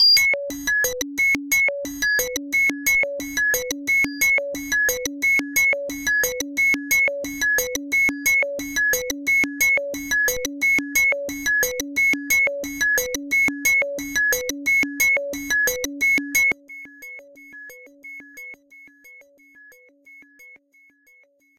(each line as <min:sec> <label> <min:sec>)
0:00.0 beep 0:00.3
0:00.0 synthesizer 0:21.5